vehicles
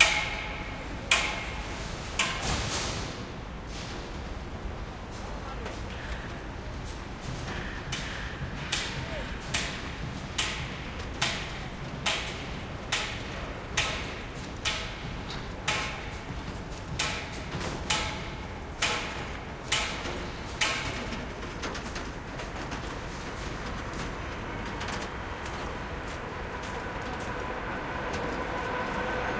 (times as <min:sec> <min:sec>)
0:23.6 0:29.3